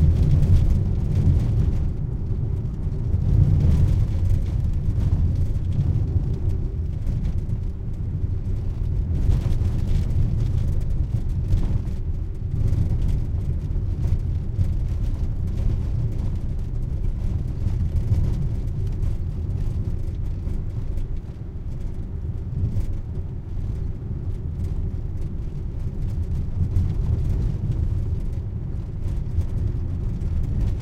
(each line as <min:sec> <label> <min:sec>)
0:00.0 auto rattly bumpy road 0:30.8